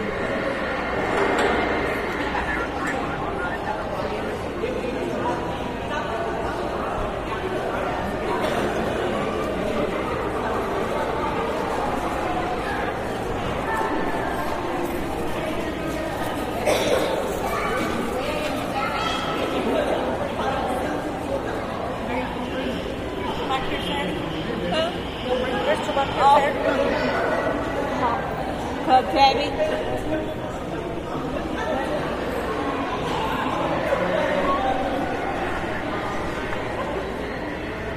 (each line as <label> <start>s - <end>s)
rides for children 0.0s - 4.6s
children played nearby 4.5s - 23.4s